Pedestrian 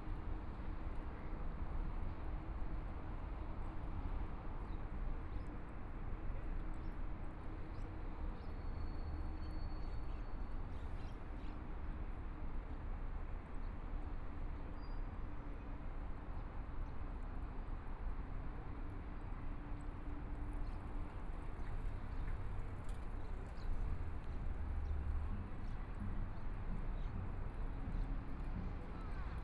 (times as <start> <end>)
15.5 29.4